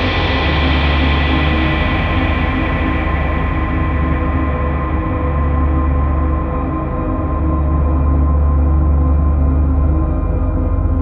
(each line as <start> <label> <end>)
0.0 drone 11.0